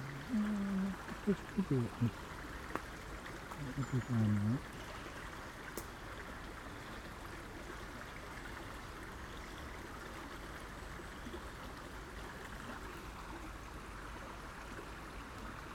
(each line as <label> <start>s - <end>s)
stream 0.0s - 15.7s